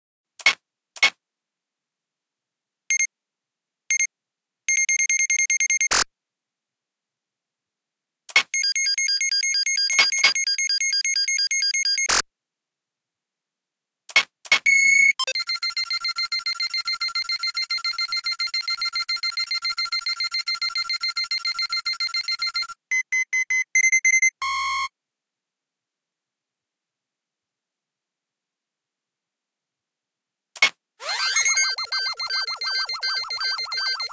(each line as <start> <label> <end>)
31.0 First Scan 34.1
31.0 Scouter starting up 34.1
31.3 beep 34.1